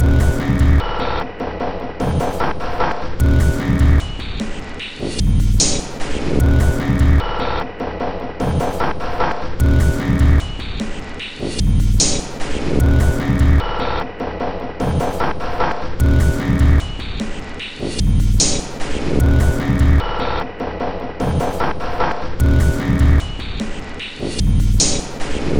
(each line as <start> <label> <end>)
0.0 Drum Loop 1.0
2.1 Drum Loop 7.4
8.5 Drum Loop 13.8
14.9 Drum Loop 20.2
21.2 Drum Loop 25.5